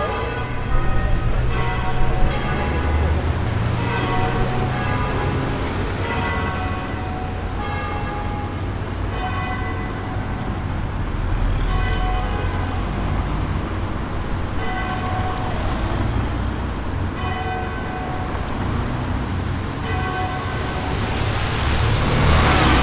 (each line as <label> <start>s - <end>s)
voices 0.0s - 3.4s
Church Bells 0.0s - 22.8s
City Traffic 0.0s - 22.8s